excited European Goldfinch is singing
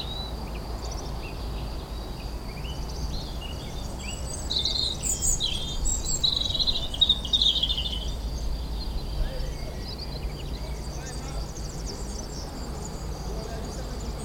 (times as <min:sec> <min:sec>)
0:02.2 0:08.2